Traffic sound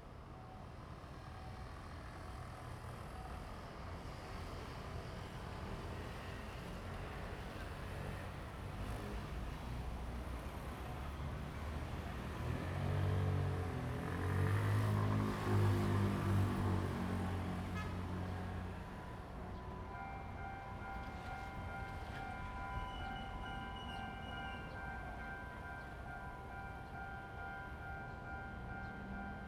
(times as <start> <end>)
6.5 29.4